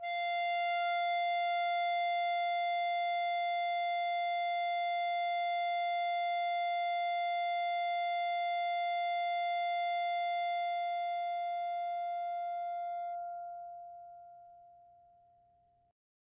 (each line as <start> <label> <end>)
0.2 ebow guitar 2.1